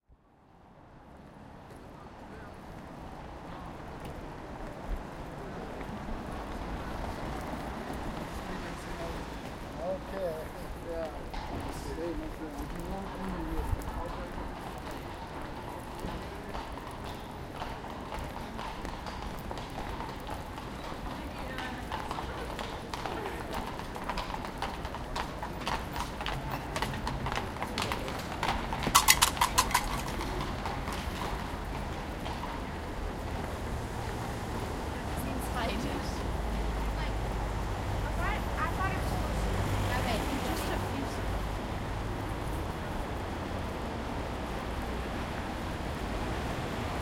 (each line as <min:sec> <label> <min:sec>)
0:06.4 conversation 0:32.9
0:09.1 walking 0:46.1
0:33.9 conversation 0:43.4